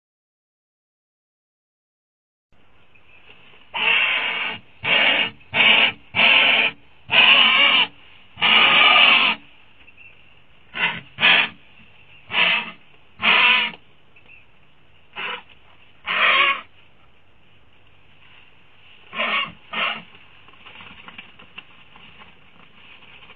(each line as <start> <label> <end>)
3.7 Condor loudly screeching/growling 9.4
10.7 Condor loudly screeching/growling 11.6
12.3 Condor loudly screeching/growling 13.8
15.2 Condor loudly screeching/growling 16.7
19.1 Condor loudly screeching/growling 20.1